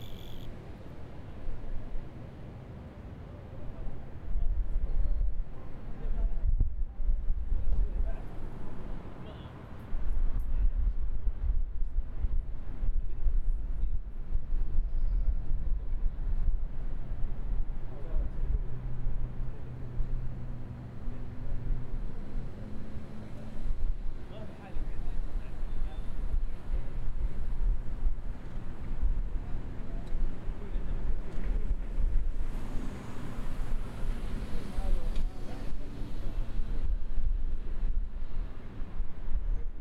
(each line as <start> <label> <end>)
0.0 Grasshopper 0.5